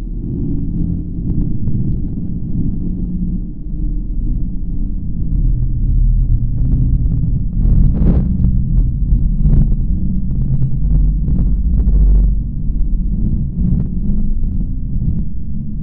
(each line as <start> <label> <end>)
0.0 pulsating softly bass sound 15.8